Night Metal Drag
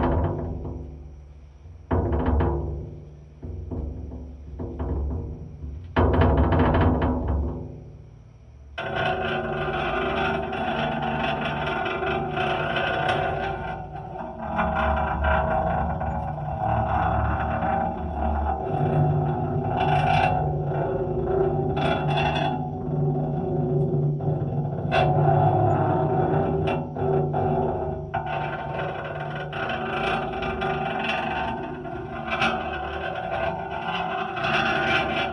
8.5 35.3

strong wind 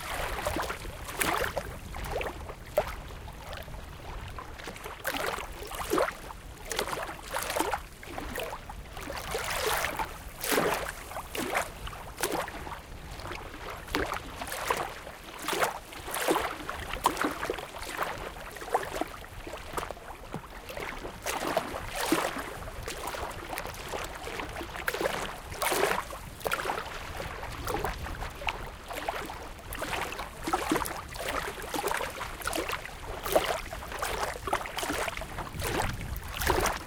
35.3 36.8

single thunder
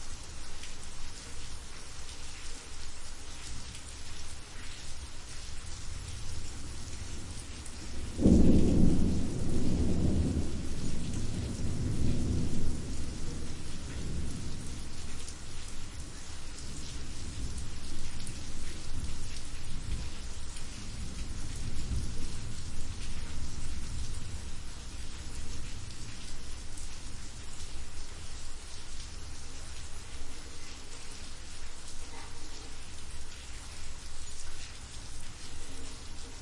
8.0 13.0

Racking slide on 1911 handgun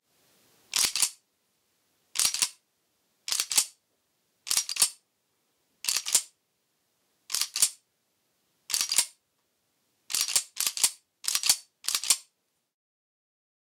0.7 1.2, 2.2 2.6, 3.3 3.8, 4.5 5.0, 5.8 6.3, 7.3 7.8, 8.7 9.2, 10.1 12.3

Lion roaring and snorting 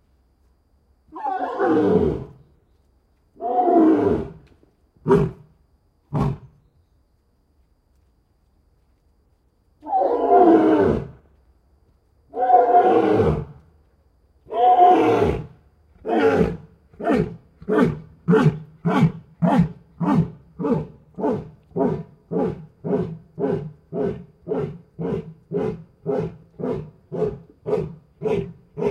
14.5 28.9

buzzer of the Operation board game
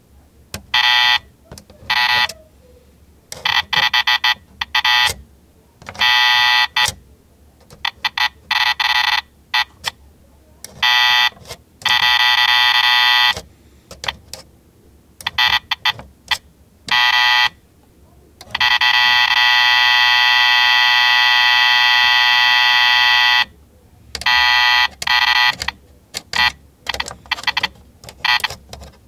0.6 2.4, 3.4 5.2, 5.8 7.0, 7.7 9.9, 10.6 13.4, 15.2 16.1, 16.9 17.6, 18.4 23.5, 24.2 29.0

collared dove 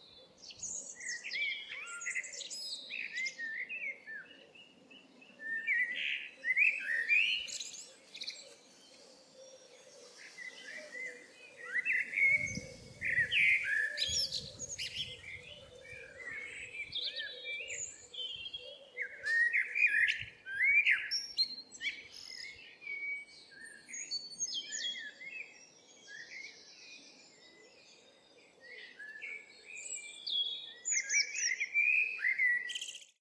3.2 21.2

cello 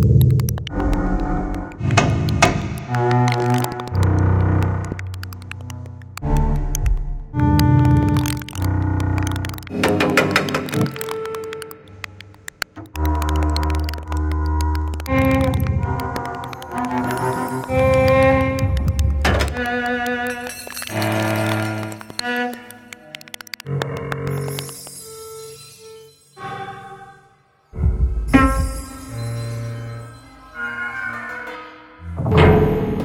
12.9 27.3

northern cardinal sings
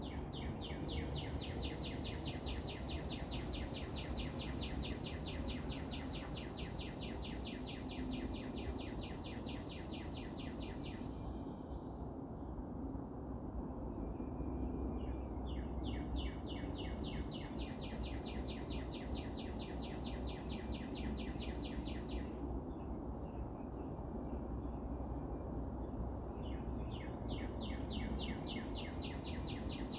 15.0 23.4, 26.4 29.9

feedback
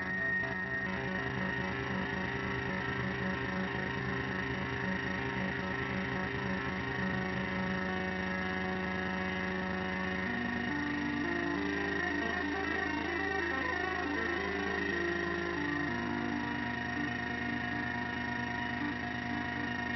0.0 13.0

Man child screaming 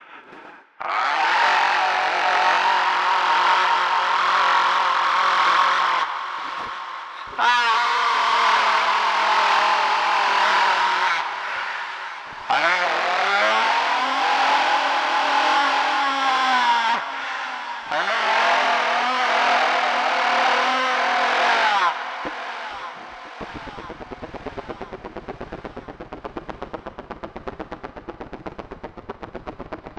0.8 6.1, 7.4 11.2, 12.5 17.0

